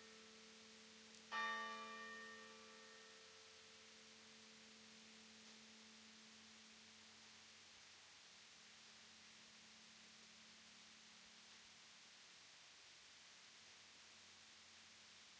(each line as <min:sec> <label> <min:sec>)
0:01.3 church bell 0:03.2